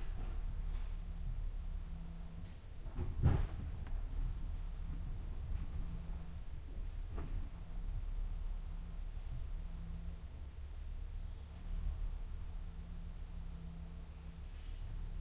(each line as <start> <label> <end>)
0.0 Truck caravan inside loading ramp 11.0